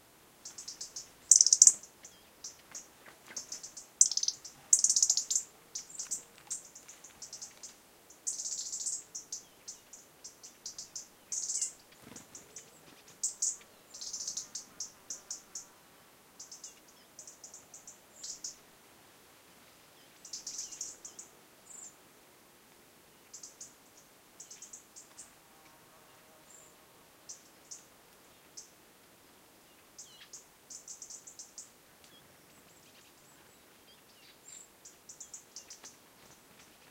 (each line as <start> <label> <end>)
0.4 call of a little bird 7.6